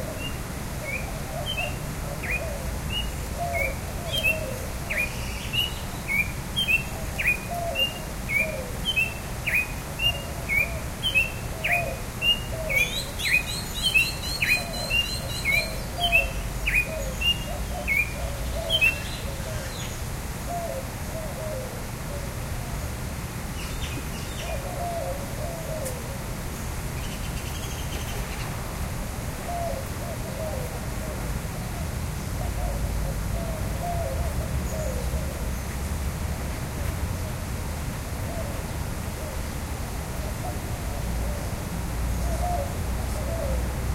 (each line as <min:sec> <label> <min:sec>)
0:00.1 Song of a Red-crested Cardinal 0:20.0
0:00.1 other birds in the background 0:21.6
0:23.6 other birds in the background 0:26.0